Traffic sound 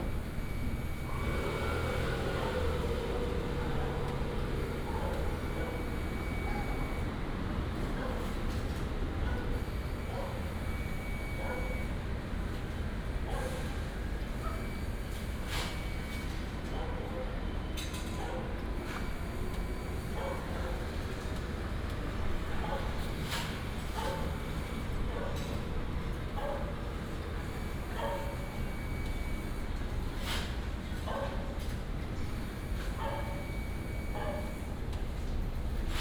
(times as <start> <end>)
0.0 7.7